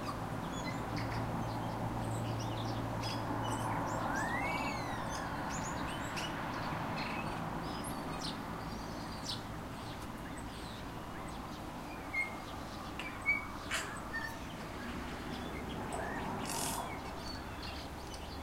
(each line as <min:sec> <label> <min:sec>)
0:00.0 cars can be heard in the background 0:18.4